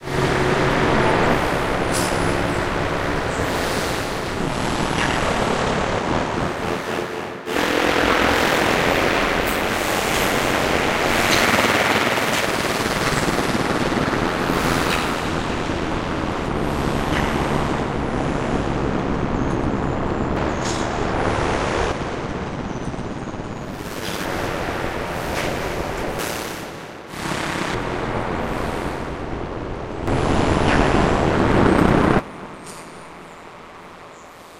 0.0s noisy drone sounds 34.5s

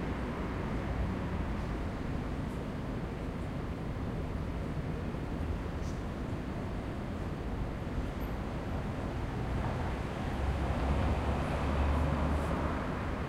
0.0s Vehicles 13.2s
0.0s pedestrians 13.2s
0.0s public transport 13.2s

